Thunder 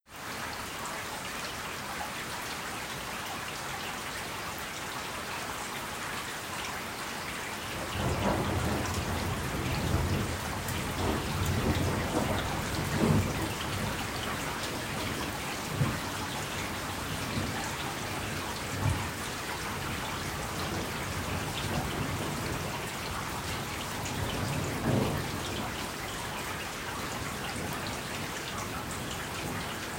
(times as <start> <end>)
7.8 26.1